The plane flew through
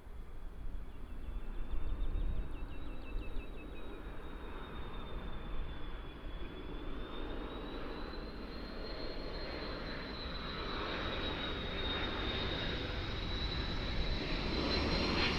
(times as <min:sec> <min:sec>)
0:04.4 0:15.3